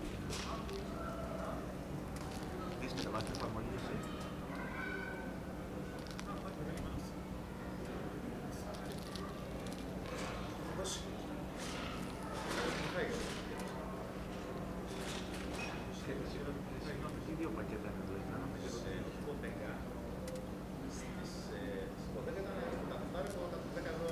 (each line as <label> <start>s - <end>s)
Local people talking 0.0s - 24.1s